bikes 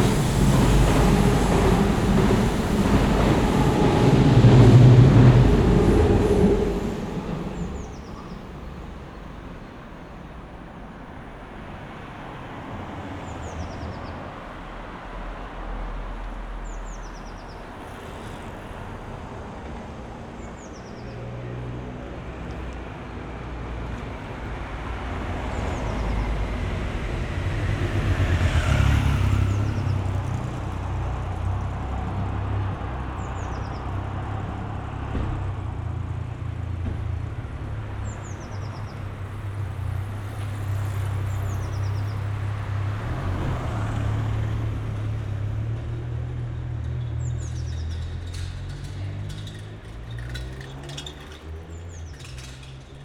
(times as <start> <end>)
46.6 53.0